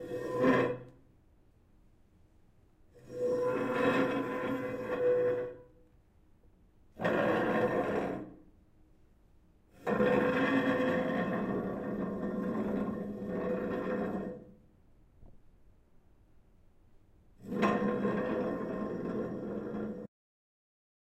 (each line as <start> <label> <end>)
0.0 chair being dragged, pulled, across a concrete floor 1.0
2.9 chair being dragged, pulled, across a concrete floor 5.7
6.9 chair being dragged, pulled, across a concrete floor 8.4
9.7 chair being dragged, pulled, across a concrete floor 14.6
17.4 chair being dragged, pulled, across a concrete floor 20.1